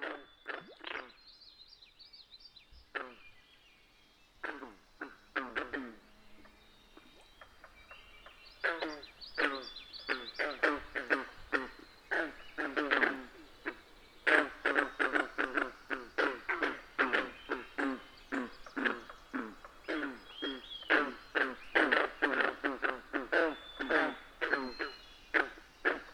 0.0s various bird species call and sing 26.1s
4.4s Green Frogs 26.1s

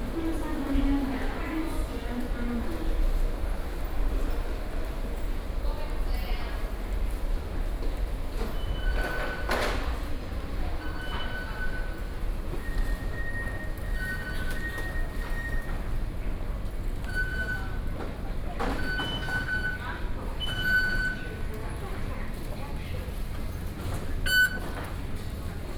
0.0s walking into the MRT station 25.7s

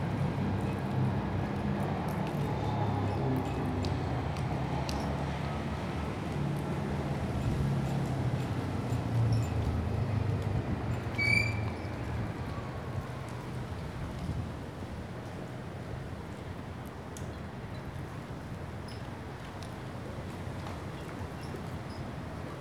0.0s traffic 22.6s

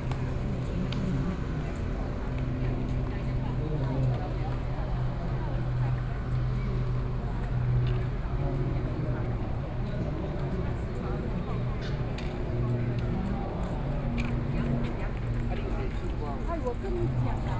0.0s Many people are walking and jogging 17.5s

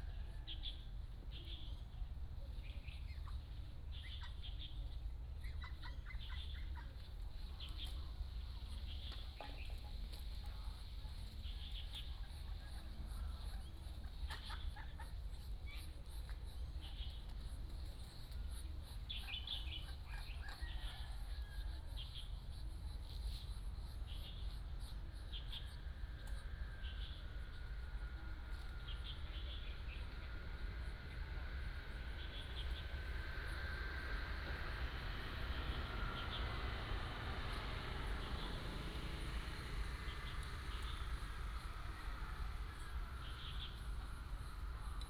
0.0s Birds singing 9.9s
12.7s Ducks and geese 17.5s

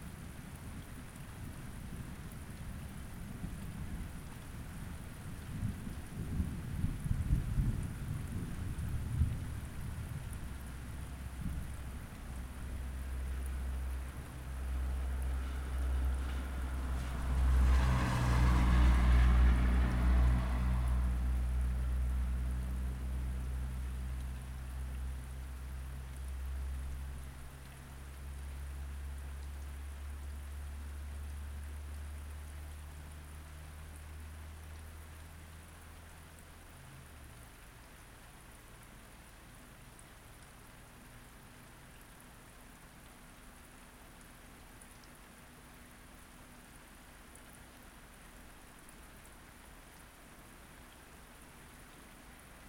8.3s passing traffic 25.6s
15.0s passing thunderstorm 22.8s

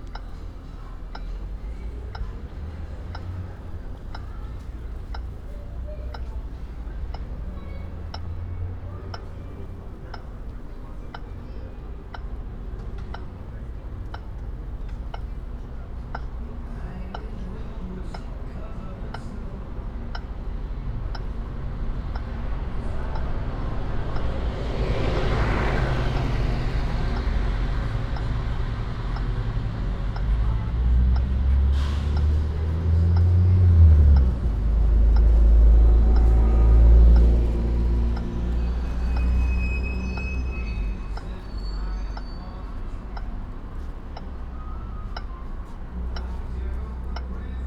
0.0s traffic signals 47.6s

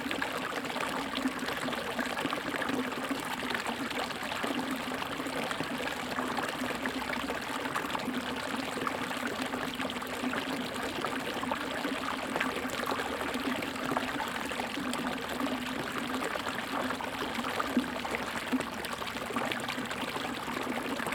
0.0s Aqueduct, Flow sound 21.1s

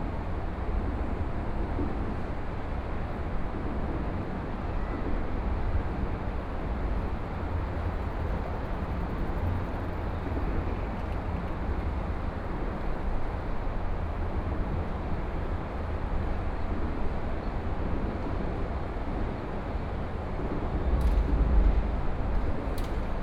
5.4s Highway 17.3s

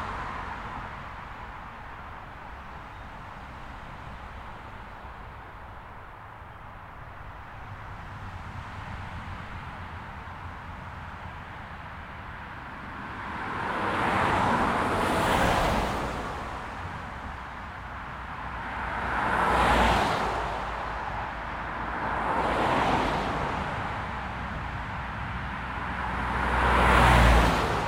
0.0s continuous flow of traffic 27.8s

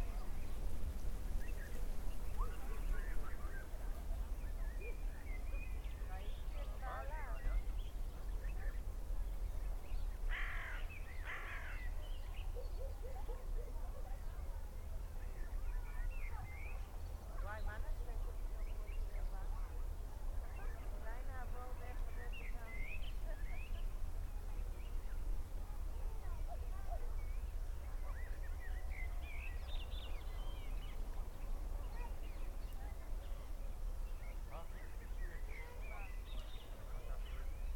0.0s all sort of birds 37.7s
0.0s far away people 37.7s

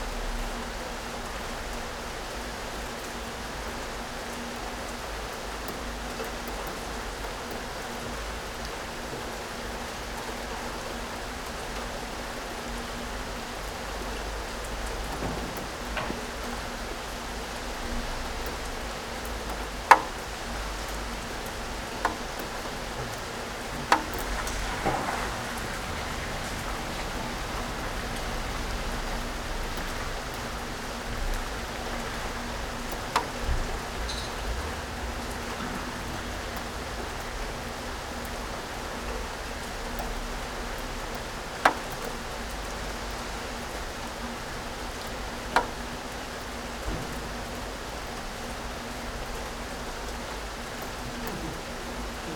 0.0s rain 52.3s

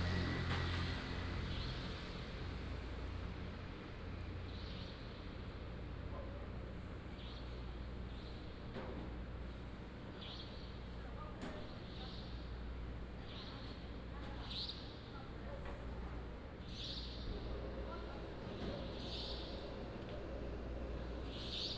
0.0s Traffic sound 4.7s

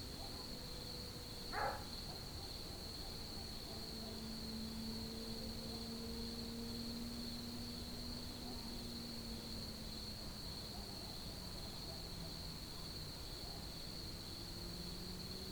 1.5s Dog barking 2.2s

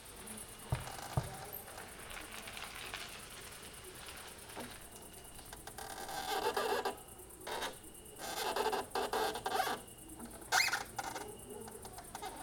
0.0s two crickets 12.4s

